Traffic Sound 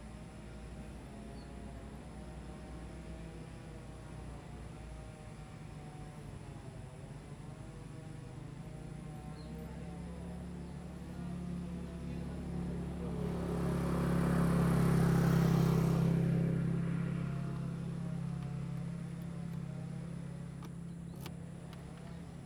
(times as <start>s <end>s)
11.4s 22.4s